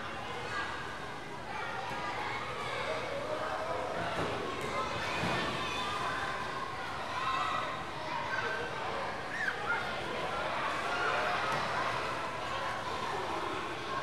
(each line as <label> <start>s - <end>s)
Water basketball game 0.0s - 14.0s
Kids yelling, running, playing, splashing, jumping in 4.0s - 8.5s